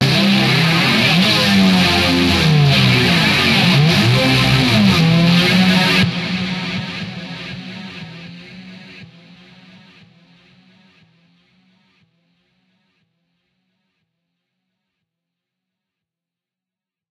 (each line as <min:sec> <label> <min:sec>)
0:00.0 Hoover Riff 0:10.0